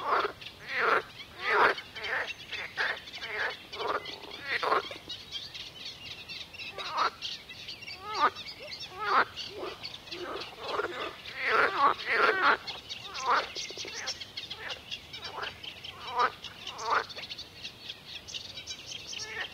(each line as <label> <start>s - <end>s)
Croaking frogs 0.0s - 5.2s
Birds singing 0.0s - 19.5s
insects 0.0s - 19.5s
Croaking frogs 6.6s - 7.3s
Croaking frogs 7.9s - 17.5s
Croaking frogs 18.5s - 19.5s